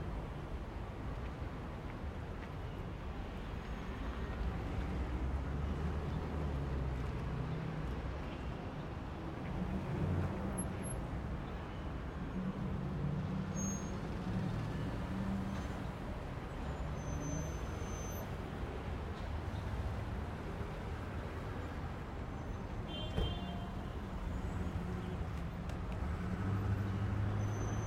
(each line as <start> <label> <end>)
0.0 busy traffic 27.8